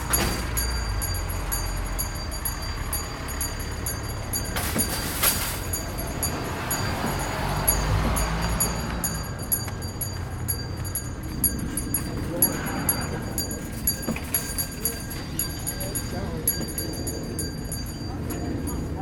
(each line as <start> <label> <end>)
0.0 cars 19.0
0.0 ringing a bell 19.0
0.0 shopping carts 19.0
11.6 talking to people 19.0